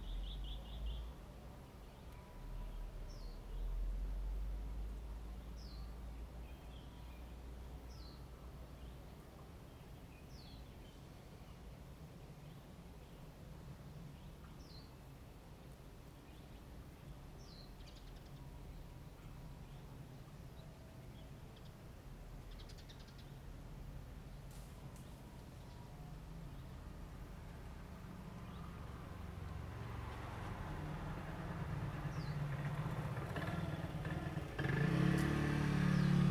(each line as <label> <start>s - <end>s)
Traffic sound 23.4s - 36.3s